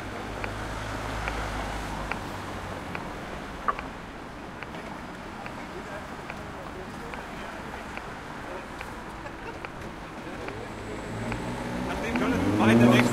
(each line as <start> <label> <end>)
0.0 cars 13.1
0.3 clicks of the traffic light 2.3
2.9 clicks of the traffic light 13.1
4.6 people 13.1